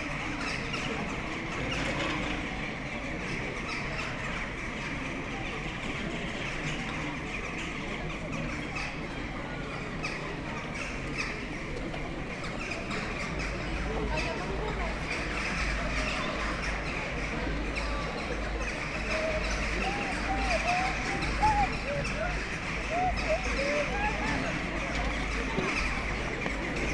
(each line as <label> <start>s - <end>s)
big bunch of excited jackdaws in the trees 0.0s - 26.9s
buzz and hum of people sitting outside bars 0.0s - 26.9s